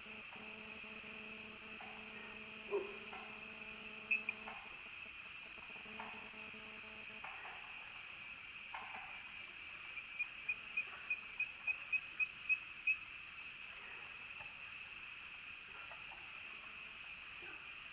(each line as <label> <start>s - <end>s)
Frogs chirping 0.0s - 13.6s
insects 0.0s - 17.9s